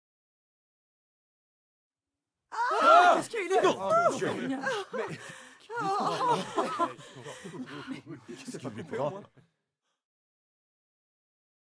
2.6s crowd gasp 8.4s

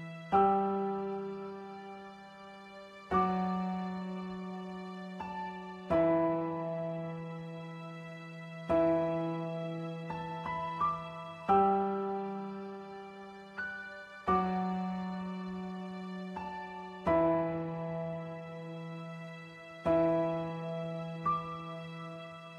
0.0s Piano 22.5s
0.0s String 22.5s

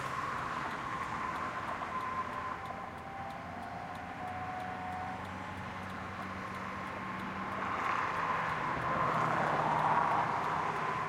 0.0s in-car driving recordings I made with the windows wound down 11.0s

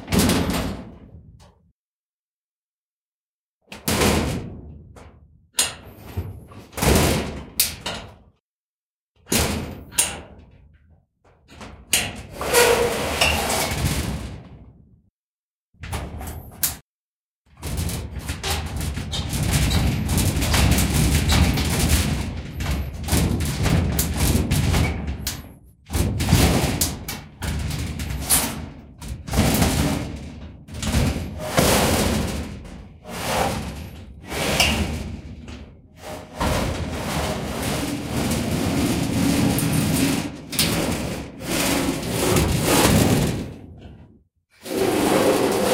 0.0s Metal Shed Door - Hits, Clangs, Rattle 1.6s
3.8s Metal Shed Door - Hits, Clangs, Rattle 8.3s
9.2s Metal Shed Door - Hits, Clangs, Rattle 14.8s
15.8s Metal Shed Door - Hits, Clangs, Rattle 16.8s
17.5s Metal Shed Door - Hits, Clangs, Rattle 44.2s
33.0s dragging 34.9s
36.0s dragging 42.9s
44.6s dragging 45.7s

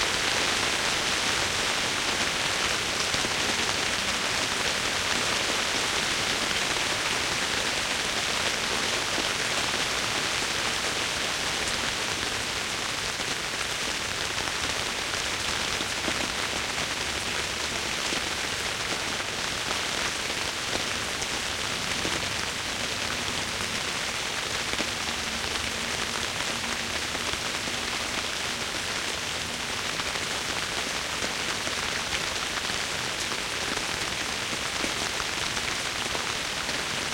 0.0s Rain falling on the roof 37.1s

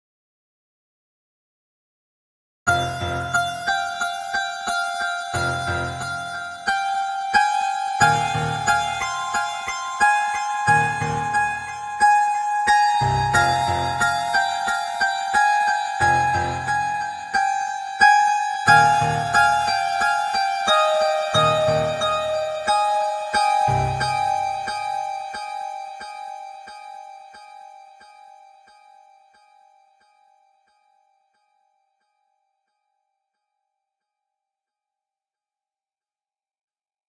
2.7s Piano 28.6s
23.7s bass 24.7s

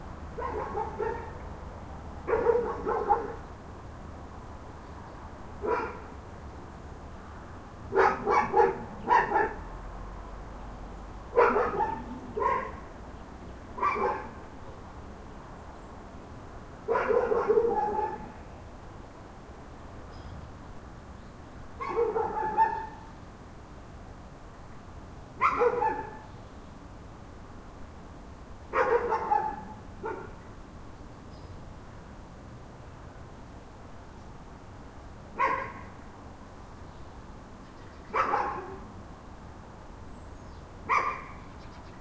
0.0s noise in the background 42.0s
0.0s wind 42.0s
0.4s dogs barking 1.4s
2.2s dogs barking 3.4s
5.6s dogs barking 6.1s
7.9s dogs barking 9.7s
11.3s dogs barking 12.9s
13.8s dogs barking 14.4s
16.8s dogs barking 18.4s
21.8s dogs barking 23.1s
25.4s dogs barking 26.3s
28.7s dogs barking 30.4s
35.4s dogs barking 36.0s
38.1s dogs barking 38.9s
40.9s dogs barking 41.5s

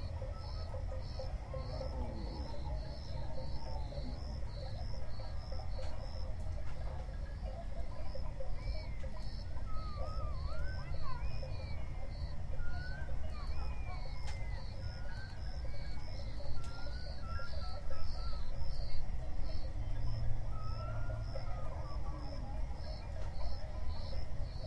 0.0s Lion 7.9s
0.0s Crickets 24.6s

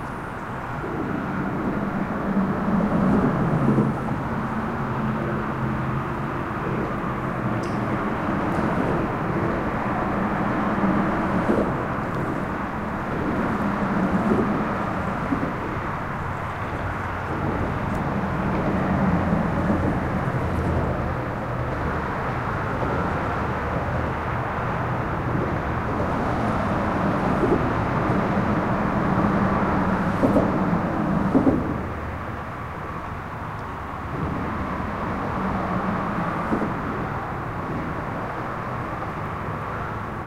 30.1s thumps as the cars drive over the seams 31.9s

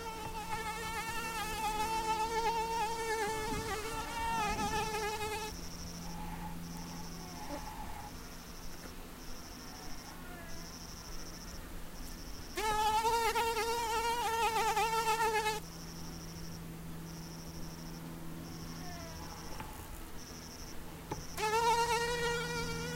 0.0s airplane passing 8.3s
0.0s cicadas 22.9s

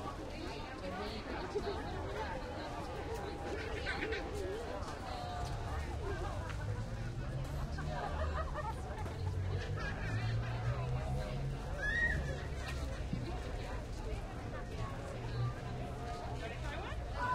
0.0s People milling about buying and selling produce 17.3s

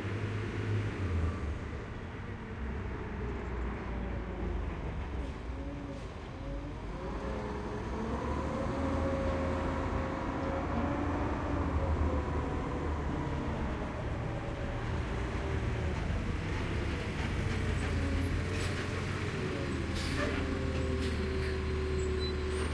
0.0s engine 22.7s

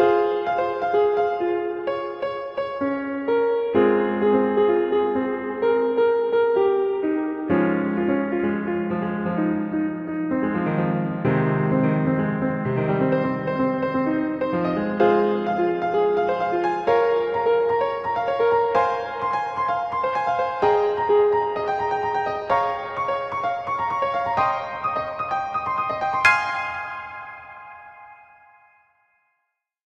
0.0s Piano 29.2s
6.7s Chords 28.8s

